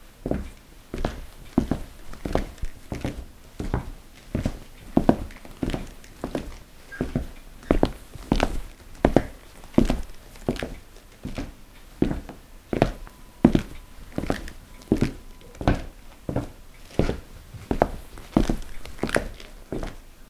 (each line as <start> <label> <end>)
0.2 footsteps on a wooden floor 20.0